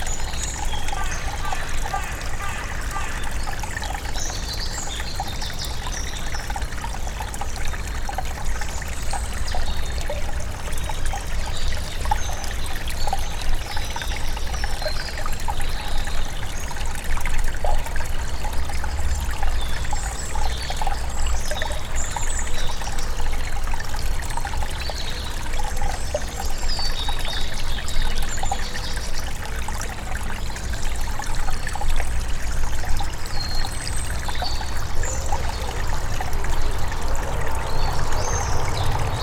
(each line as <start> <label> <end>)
0.0 Groelstbeek river 39.2